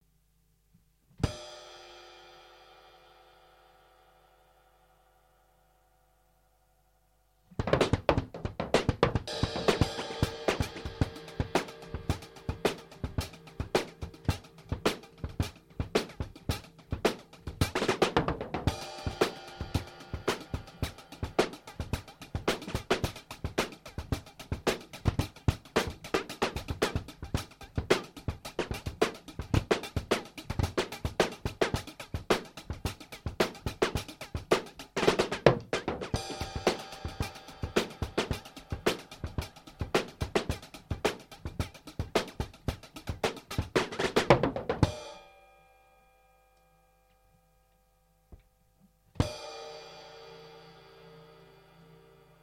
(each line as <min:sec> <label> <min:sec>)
0:07.5 drum 0:45.2